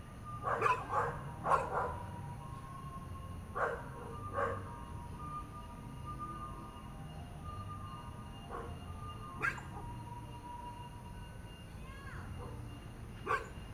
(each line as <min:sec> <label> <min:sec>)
0:00.4 Dogs barking 0:02.0
0:03.6 Dogs barking 0:04.6
0:09.4 Dogs barking 0:09.8
0:13.2 Dogs barking 0:13.6